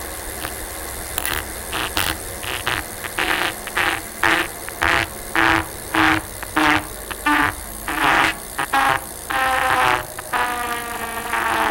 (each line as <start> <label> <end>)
0.0 gears 11.7
1.3 bike tire scrapped while spinning 11.7